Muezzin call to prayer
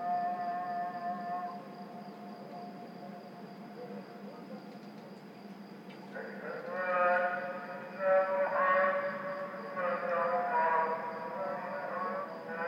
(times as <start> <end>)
6.1 12.6